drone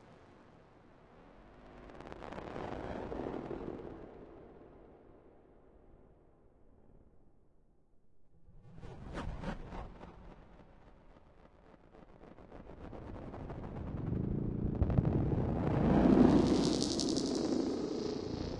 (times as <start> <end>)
13.4 18.5